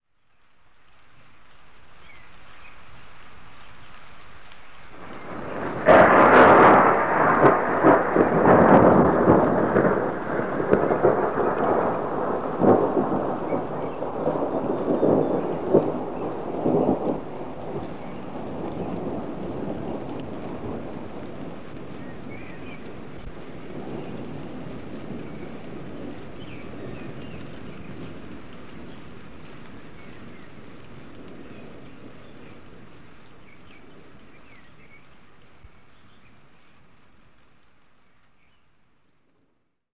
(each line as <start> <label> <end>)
5.0 thunder 32.9